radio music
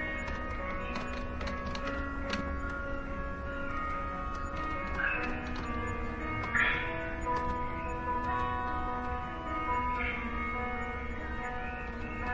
3.5 12.3

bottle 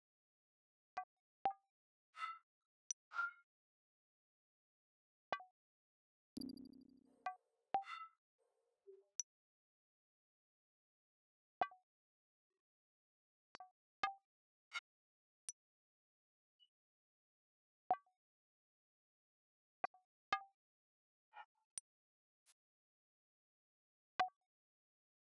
6.4 6.8

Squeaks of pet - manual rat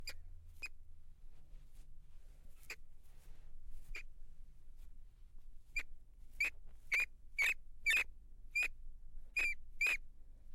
0.0 0.8, 2.6 2.8, 3.9 4.1, 5.7 10.0

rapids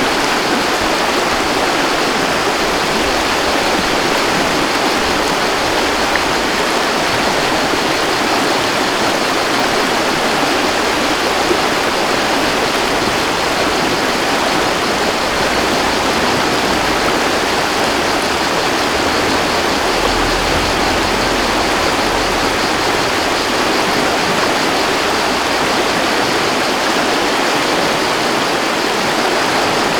10.3 29.9

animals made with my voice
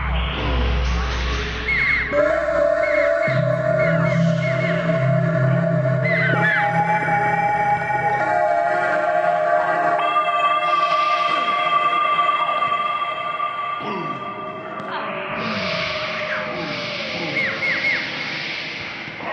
14.8 18.1

